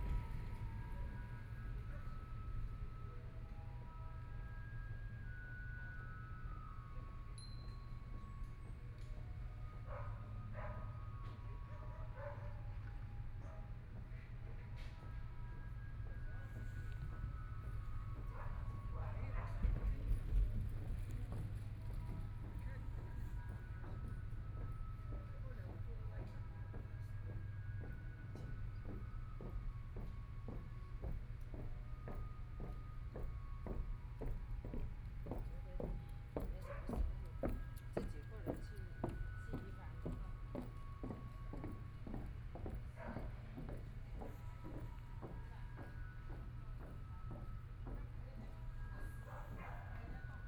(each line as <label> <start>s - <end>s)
People walking 15.9s - 50.4s